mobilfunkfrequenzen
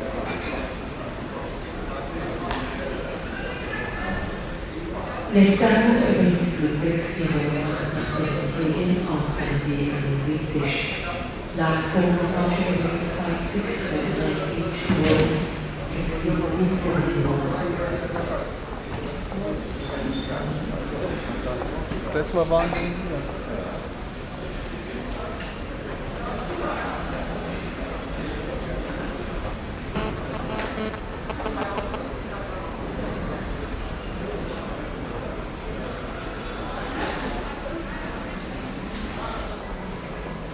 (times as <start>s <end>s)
29.9s 32.0s